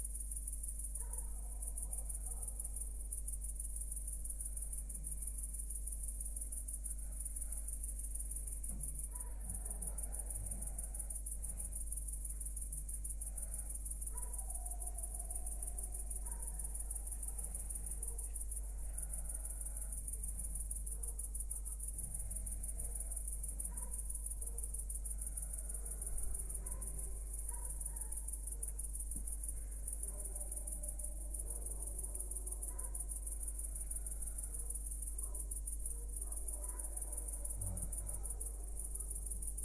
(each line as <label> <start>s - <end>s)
crickets 0.0s - 39.6s